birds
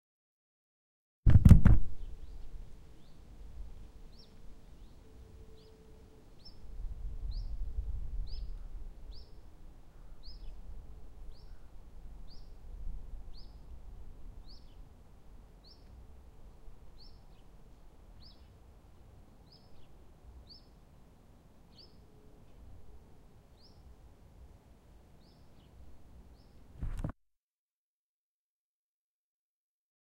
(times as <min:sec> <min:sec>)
0:08.2 0:10.7, 0:11.3 0:12.6, 0:16.9 0:20.8, 0:21.7 0:22.7, 0:25.2 0:27.1